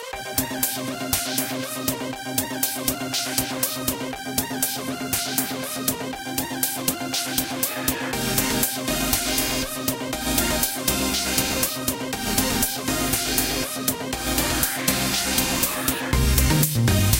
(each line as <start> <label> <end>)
0.0 bass 17.1
0.0 lead synth 17.1